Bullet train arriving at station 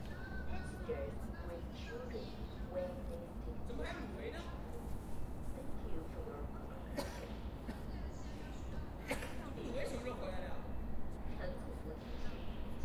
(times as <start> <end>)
10.3 12.8